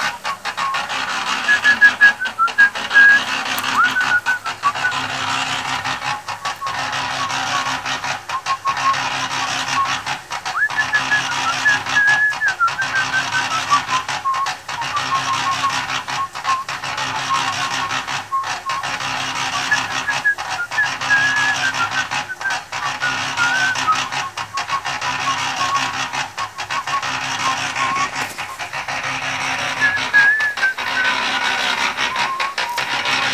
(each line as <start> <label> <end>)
0.0 concrete mixer in function 33.3
1.4 mason whistiling follow the rythm 5.2
19.6 mason whistiling follow the rythm 28.6
29.6 mason whistiling follow the rythm 33.3